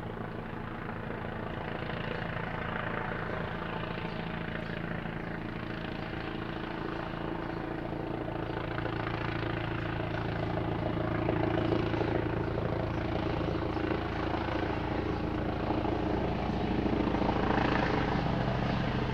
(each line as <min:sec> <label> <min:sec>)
0:00.0 birds in the background 0:19.1